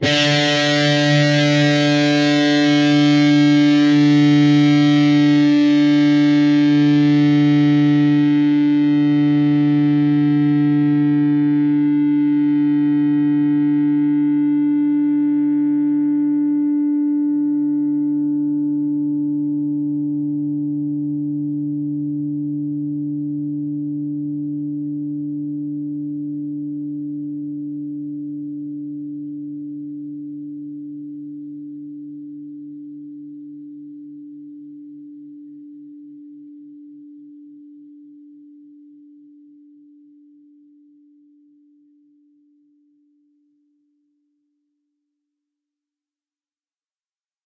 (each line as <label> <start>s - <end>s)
distorted guitar 0.0s - 36.6s